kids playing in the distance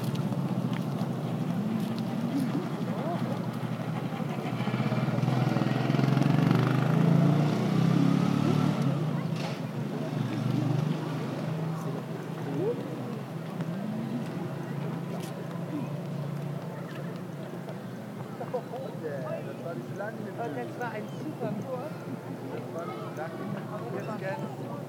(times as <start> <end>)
7.7 19.5, 21.2 24.8